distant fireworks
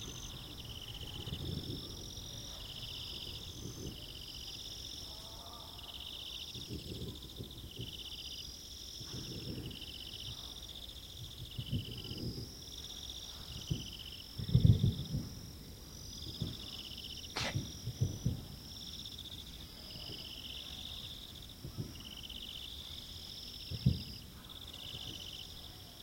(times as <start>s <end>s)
0.0s 4.2s, 6.5s 8.3s, 9.0s 10.6s, 11.2s 20.8s, 21.4s 22.9s, 23.6s 25.5s